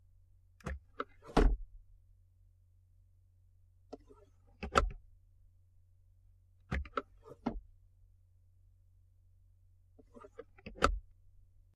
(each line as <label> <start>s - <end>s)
glove box 0.6s - 1.8s
glove box 3.8s - 5.1s
glove box 6.6s - 7.7s
glove box 9.9s - 11.2s